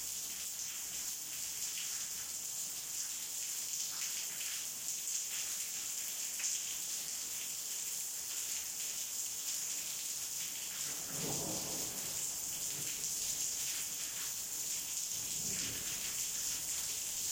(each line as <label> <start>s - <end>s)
rain 0.0s - 17.3s
thunder 10.8s - 14.0s
thunder 15.1s - 17.2s